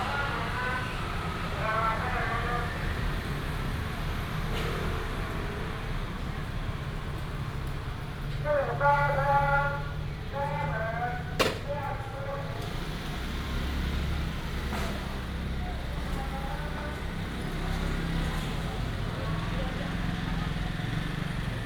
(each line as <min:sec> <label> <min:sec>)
0:00.0 Traffic sound 0:21.6